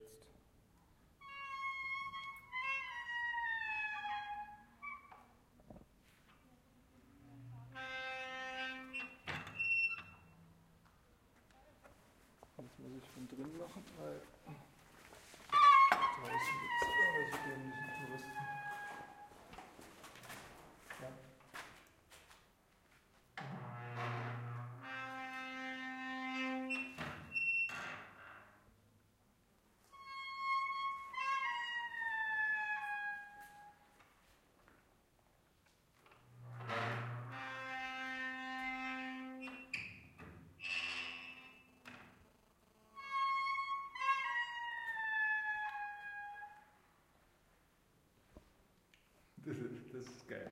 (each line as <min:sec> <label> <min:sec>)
0:01.3 open and close large wooden door 0:06.0
0:07.2 open and close large wooden door 0:10.5
0:15.5 open and close large wooden door 0:21.8
0:23.3 open and close large wooden door 0:28.8
0:30.0 open and close large wooden door 0:34.2
0:35.9 open and close large wooden door 0:46.8